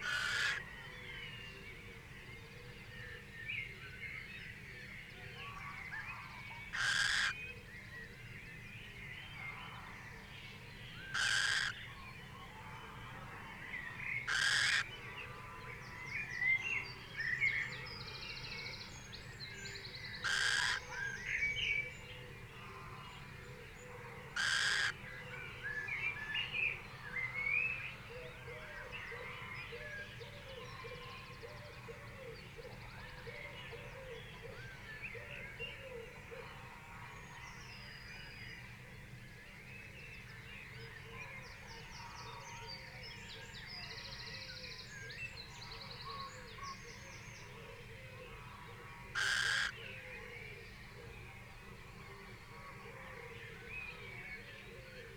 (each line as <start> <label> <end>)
0.0 red-legged partridge 0.7
0.0 crow 0.9
0.0 blackbird 1.2
0.0 pheasant 1.6
0.0 wren 0.6
5.1 pheasant 7.6
5.4 red-legged partridge 7.4
5.5 blackbird 7.4
5.5 crow 7.4
6.8 wren 7.4
11.0 pheasant 17.0
11.1 blackbird 12.1
11.1 crow 11.8
11.2 wren 11.8
11.2 red-legged partridge 12.1
13.8 blackbird 16.9
14.2 red-legged partridge 15.9
14.2 crow 15.8
14.3 wren 14.8
20.0 blackbird 22.1
20.0 pheasant 38.3
20.2 crow 21.4
20.2 red-legged partridge 21.2
24.0 red-legged partridge 25.0
24.0 crow 25.4
24.3 blackbird 26.4
24.4 wren 24.9
40.8 blackbird 55.1
40.8 pheasant 55.1
45.4 red-legged partridge 55.1
45.5 crow 50.4
49.2 wren 49.8